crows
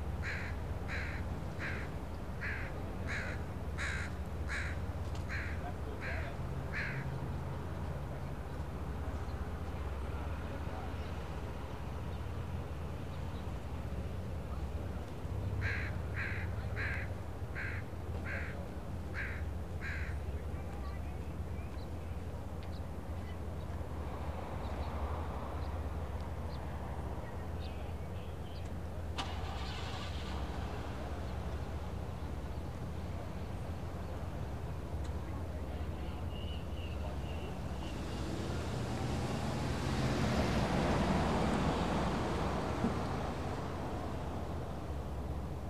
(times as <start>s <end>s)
0.2s 7.1s, 15.6s 18.6s, 19.2s 20.2s